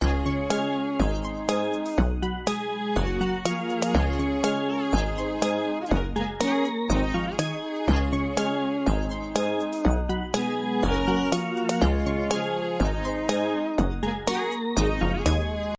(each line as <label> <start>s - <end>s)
bass 0.0s - 15.7s
synthesizer 0.0s - 15.7s